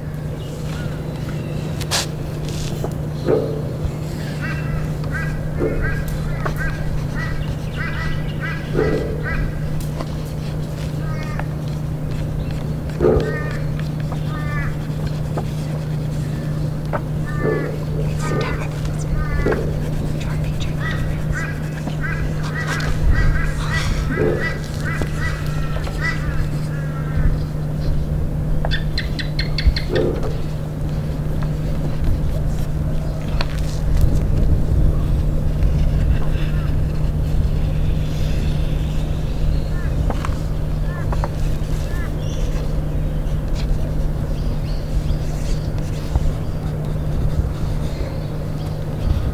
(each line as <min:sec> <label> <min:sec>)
0:01.7 drawing with pencils on paper 0:27.3
0:30.0 drawing with pencils on paper 0:49.3